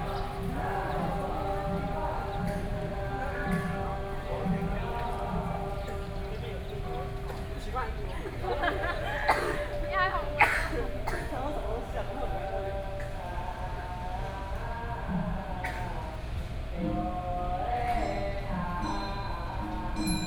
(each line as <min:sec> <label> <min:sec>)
0:00.0 Temple chanting voices 0:20.2